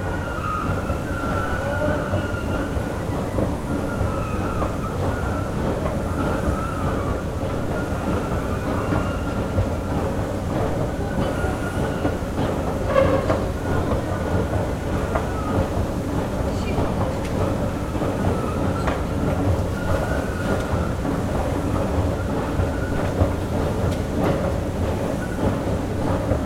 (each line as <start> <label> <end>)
0.0 Howling escalators 26.4